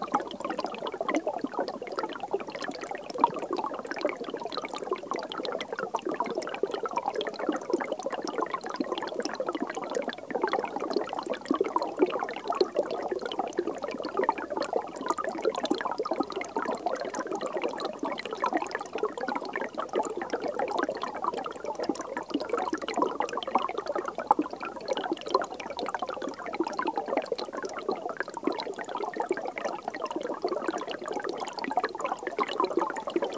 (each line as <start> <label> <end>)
0.0 Small stream under a thick layer of ice 33.3